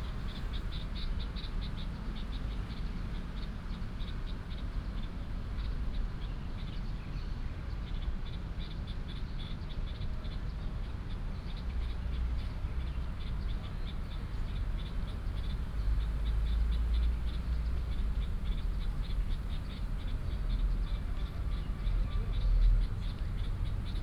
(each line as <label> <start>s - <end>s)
traffic sound 0.0s - 2.7s
traffic sound 11.7s - 24.0s